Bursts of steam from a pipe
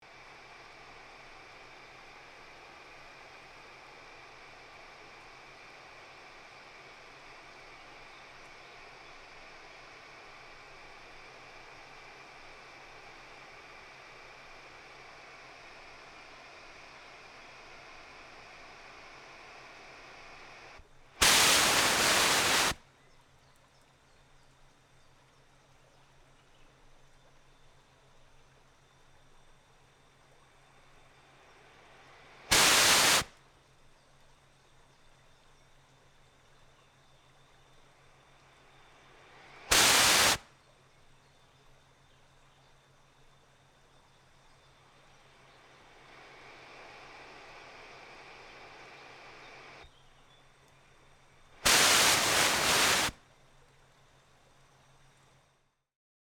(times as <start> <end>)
0.1 22.8, 31.1 33.4, 38.6 40.5, 45.0 49.8, 51.6 53.2